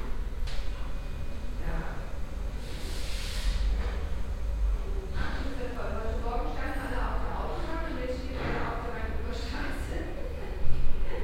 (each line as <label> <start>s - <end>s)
people talking in a reverbing room 1.4s - 11.2s
receptionists talking to patients 5.0s - 11.2s